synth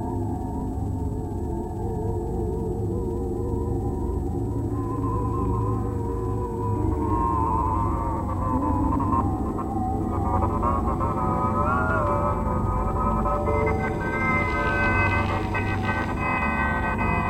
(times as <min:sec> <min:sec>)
0:04.4 0:17.2